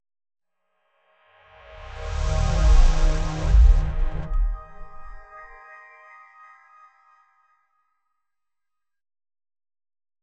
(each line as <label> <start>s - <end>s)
portal opens 1.6s - 5.6s